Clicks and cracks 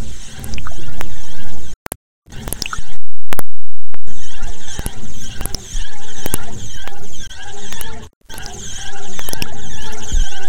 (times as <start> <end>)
9.2 9.6